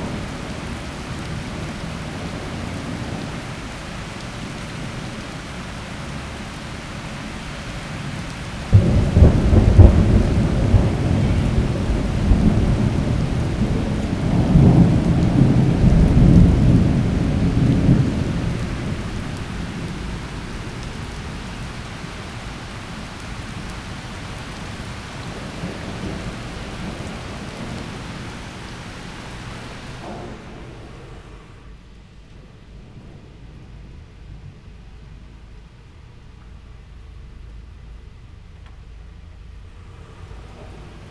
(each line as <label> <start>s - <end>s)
rain 0.0s - 41.1s